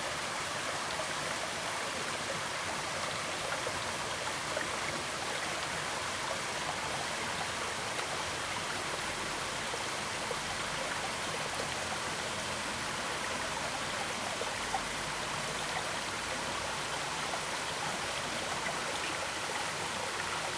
0.0s small Stream 20.5s
0.0s small waterfall 20.5s

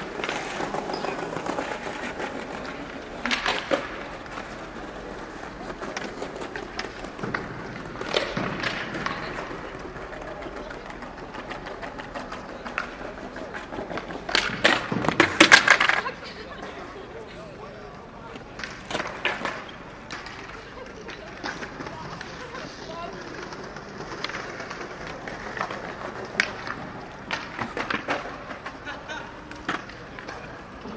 0.0s skater 30.9s

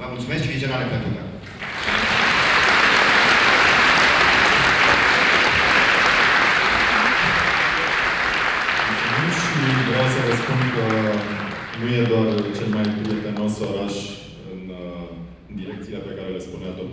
8.9s voice of the city mayor 16.9s

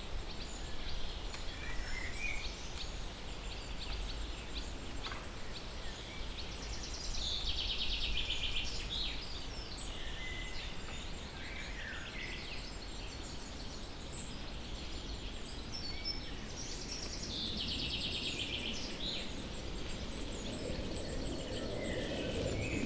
16.9s bikers 22.8s
16.9s plane takes off 22.8s
17.1s train passes on the tracks 22.8s
17.7s crackling tree 22.8s

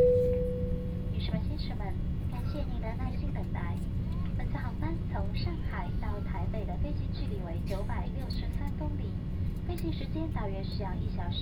0.0s Aircraft interior voice broadcast message 11.4s

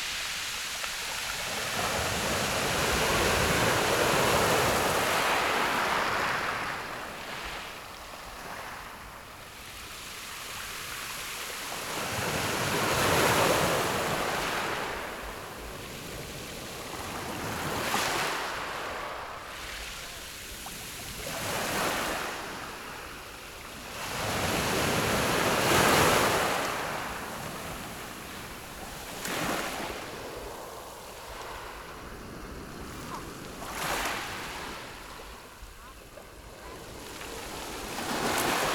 0.0s waves 38.7s

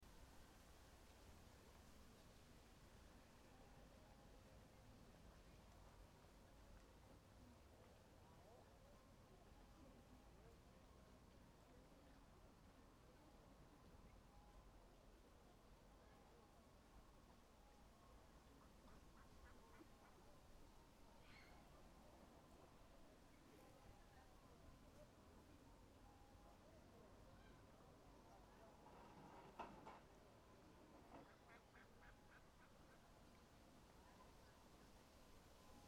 18.5s Ducks 20.4s
31.1s Ducks 33.4s

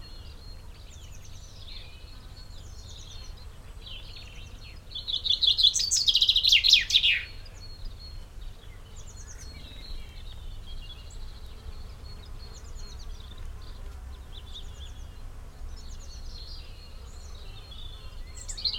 0.0s bees 18.7s
0.0s bird song 18.7s

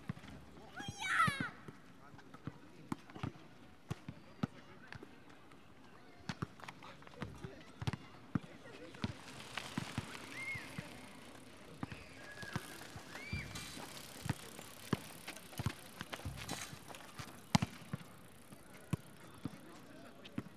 0.1s crowd enjoys first warm, spring day 20.5s
6.4s bikers coming along the path 20.5s

